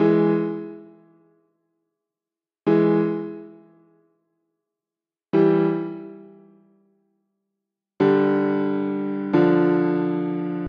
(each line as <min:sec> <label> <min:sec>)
0:00.0 piano 0:01.2
0:02.7 piano 0:03.9
0:05.4 piano 0:06.7
0:08.0 piano 0:10.6